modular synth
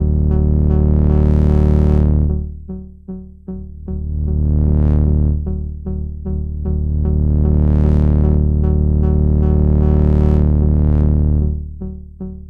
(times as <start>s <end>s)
3.5s 12.4s